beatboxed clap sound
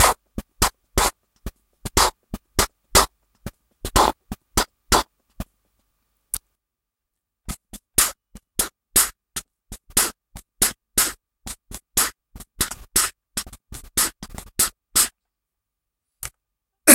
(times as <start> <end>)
1.9 3.1, 3.8 5.1